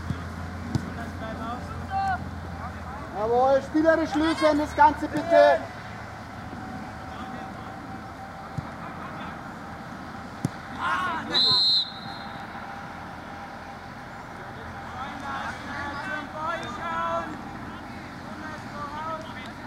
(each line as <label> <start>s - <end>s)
Kids (14-16) playing a real soccergame 0.0s - 19.6s
Parents around 0.0s - 19.6s
Coach shouting 1.6s - 2.3s
Coach shouting 3.1s - 5.7s
Coach shouting 10.7s - 12.2s
Coach shouting 15.0s - 19.6s